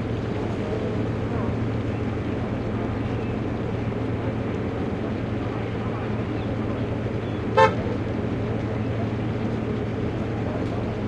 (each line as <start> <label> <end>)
0.0 waves 11.0